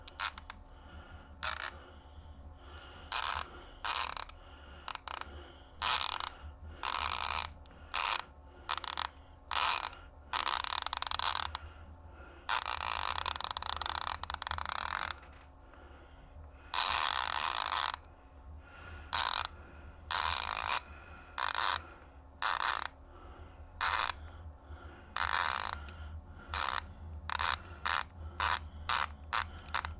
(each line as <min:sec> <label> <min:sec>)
0:00.0 ratchet 0:00.7
0:01.4 ratchet 0:01.8
0:03.1 ratchet 0:11.7
0:12.5 ratchet 0:15.5
0:16.7 ratchet 0:18.1
0:19.1 ratchet 0:23.0
0:23.8 ratchet 0:24.3
0:25.2 ratchet 0:29.9